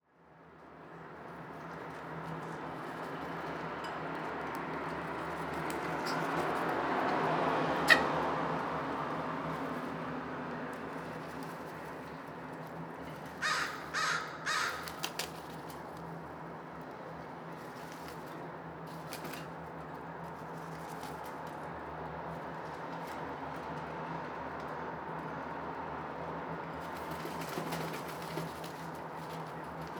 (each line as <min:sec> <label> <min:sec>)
0:00.4 traffic 0:29.9
0:13.4 caw 0:15.1